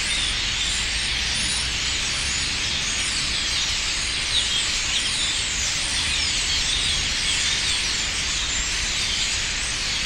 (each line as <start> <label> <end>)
0.0 Starlings 10.0